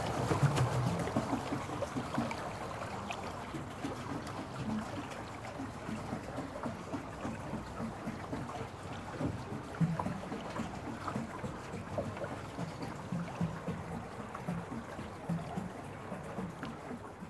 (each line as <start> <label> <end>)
0.0 ride on a pedal boat 17.2